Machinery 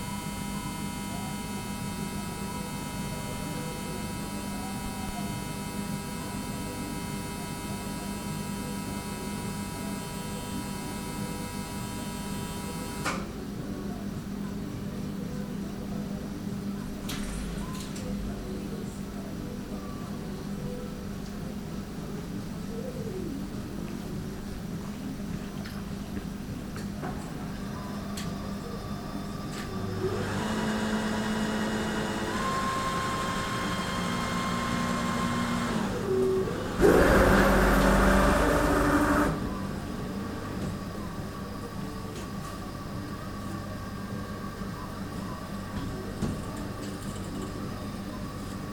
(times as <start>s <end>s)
27.0s 48.7s